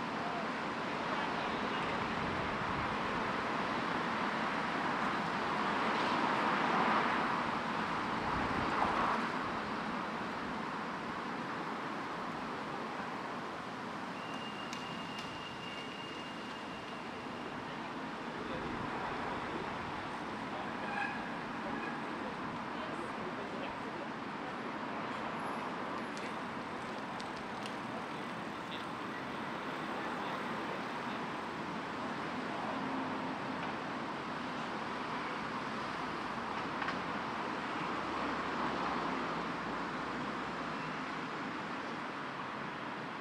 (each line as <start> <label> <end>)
0.0 pedestrian crossings 43.1
0.0 cyclists 43.2
0.0 pedestrians 43.2
11.2 motor and emergency vehicles 23.9
25.4 motor and emergency vehicles 34.8